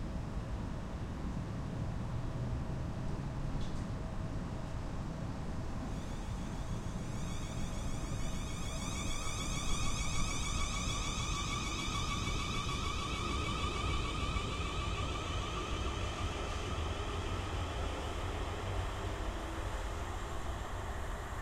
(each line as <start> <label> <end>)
0.0 train passes without stopping 21.4
5.3 another train which stops for a short while 21.4